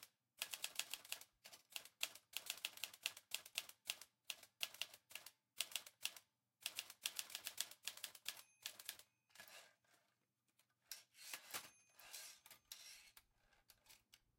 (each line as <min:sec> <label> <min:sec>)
0:00.4 oldfashioned typewriter 0:09.0